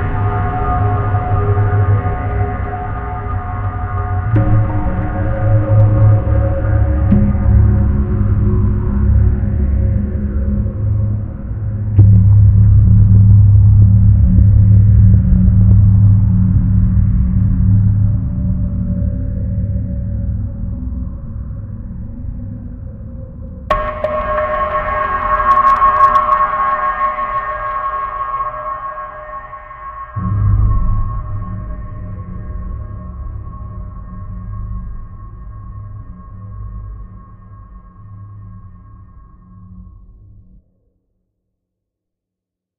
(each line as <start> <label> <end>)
0.0 Trippy Drone 38.0
23.7 crackle 31.8